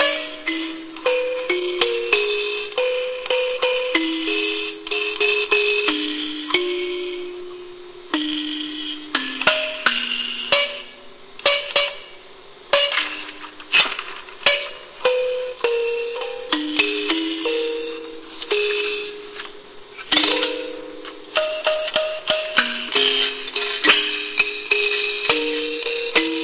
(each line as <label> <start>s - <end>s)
plucking of ancient instrument 12.7s - 26.4s